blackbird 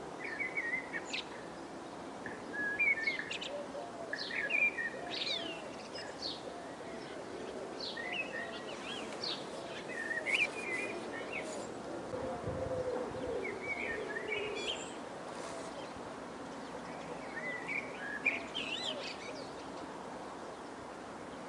0:02.2 0:11.8, 0:12.4 0:19.9

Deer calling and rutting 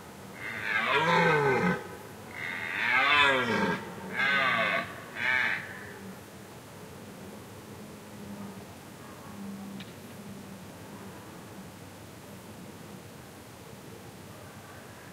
0:00.4 0:06.1

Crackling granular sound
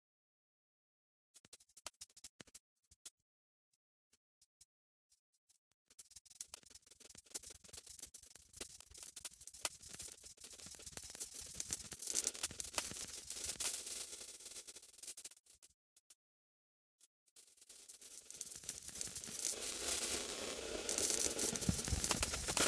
0:08.6 0:15.3, 0:17.4 0:22.6

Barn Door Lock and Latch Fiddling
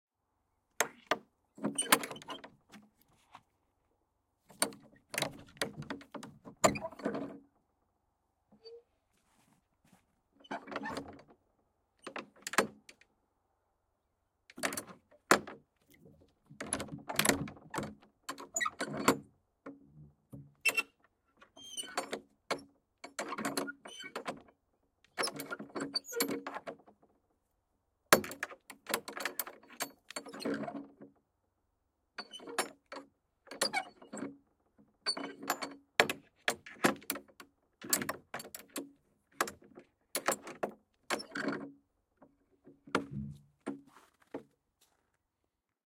0:00.8 0:02.6, 0:04.5 0:07.4, 0:14.5 0:15.6, 0:35.1 0:43.2

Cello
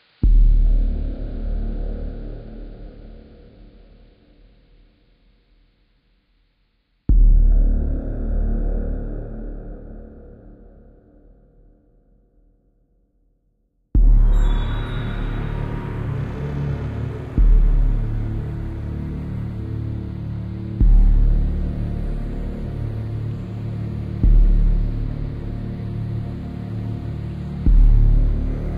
0:14.0 0:28.7

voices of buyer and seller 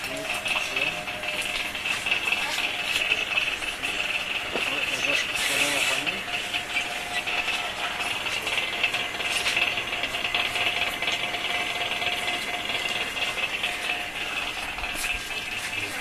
0:00.0 0:09.7, 0:13.9 0:16.0

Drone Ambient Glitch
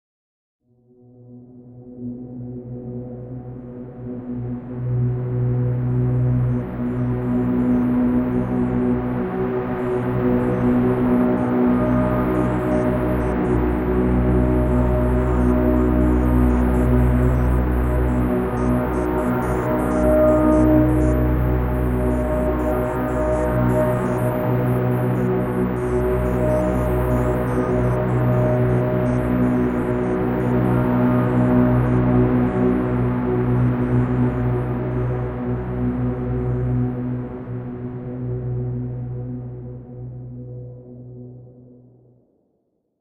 0:11.9 0:32.0

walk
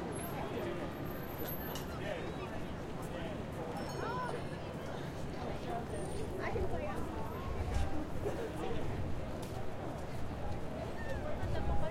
0:06.9 0:11.9

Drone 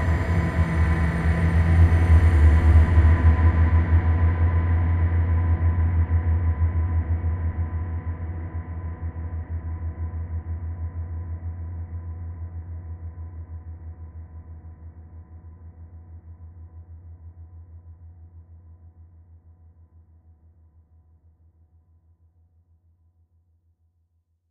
0:00.0 0:05.4

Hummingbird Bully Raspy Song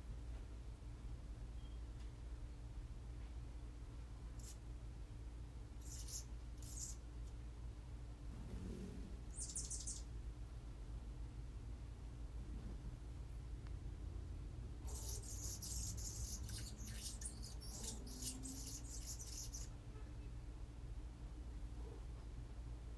0:05.8 0:07.0, 0:09.3 0:10.1, 0:14.9 0:19.8

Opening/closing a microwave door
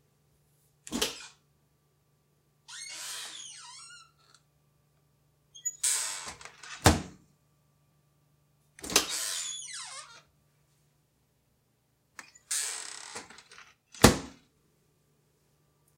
0:05.7 0:07.2

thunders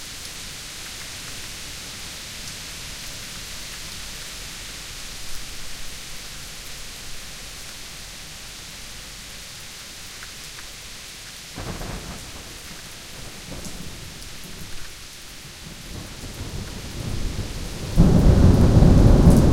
0:16.4 0:19.5

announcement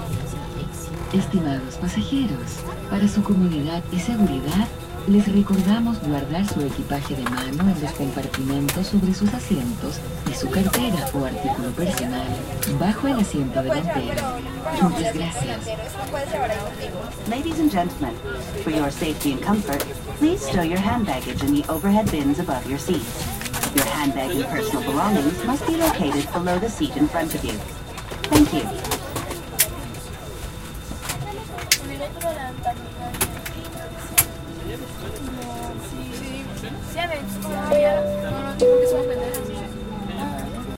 0:00.0 0:15.9, 0:33.4 0:40.7

